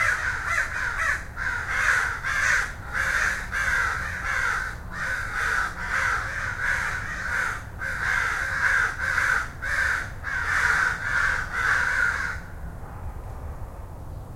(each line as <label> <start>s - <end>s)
crows 0.0s - 12.6s
light traffic noise 0.0s - 14.3s